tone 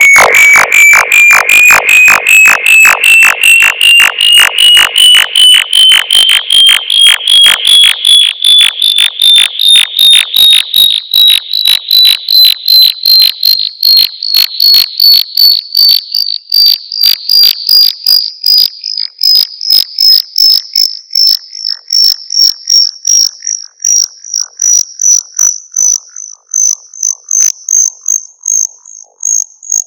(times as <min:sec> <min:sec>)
0:00.0 0:12.9